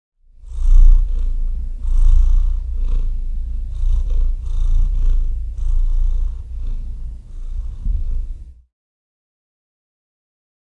0.3s Cat Purring 8.7s

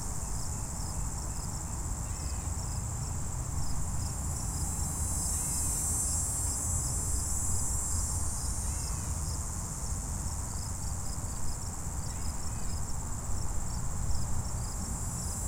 0.0s Background Traffic 15.4s
0.0s Cricket 15.4s
4.0s Insect Buzzing 9.5s

